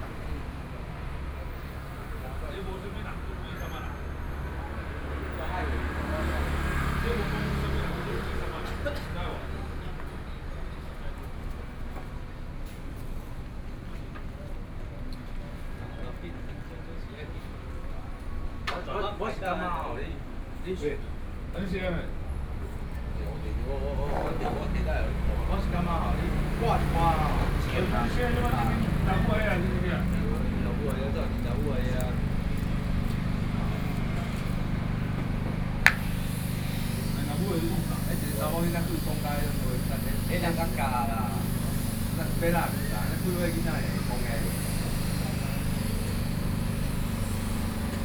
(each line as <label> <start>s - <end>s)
Traffic Sound 0.0s - 12.8s
Traffic Sound 17.2s - 48.0s
Tourist 22.8s - 48.0s